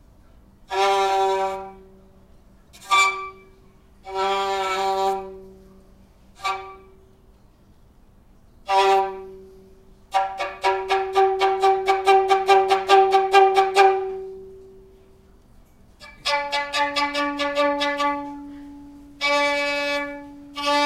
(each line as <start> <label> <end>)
0.7 violin 1.9
2.7 violin 5.7
6.3 violin 7.0
8.6 violin 14.6
16.0 violin 20.8